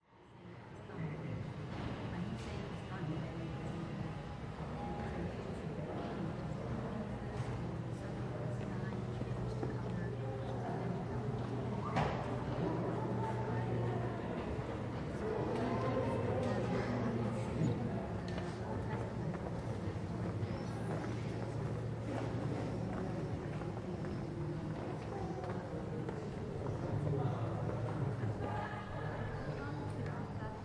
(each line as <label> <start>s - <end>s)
tourists which speak in multiple languages 0.4s - 30.6s